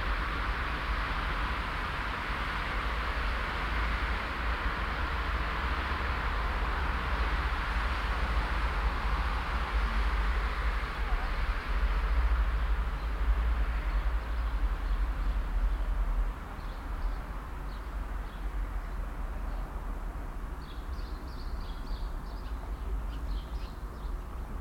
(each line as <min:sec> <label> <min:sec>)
0:00.0 traffic from the near main road 0:24.6